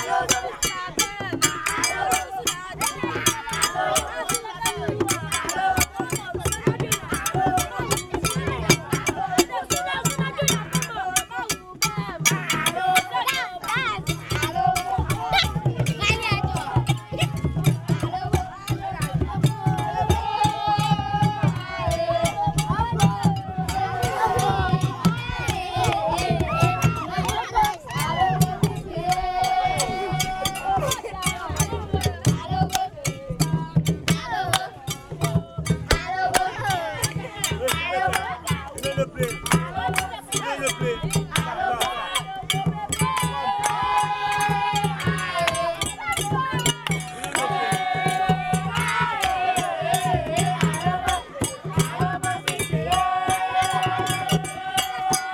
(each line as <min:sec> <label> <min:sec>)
0:12.4 Childeren in Keta making fun and music 0:20.4